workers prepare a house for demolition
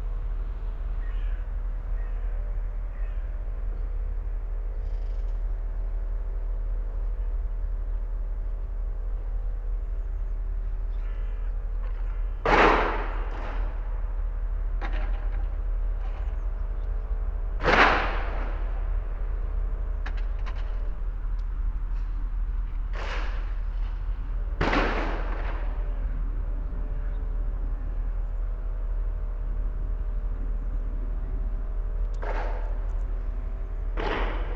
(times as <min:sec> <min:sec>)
0:10.9 0:21.0, 0:21.9 0:26.1